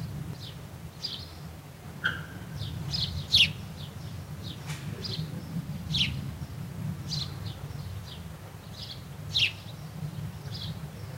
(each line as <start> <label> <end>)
0.0 birds 11.1
0.0 wind 11.1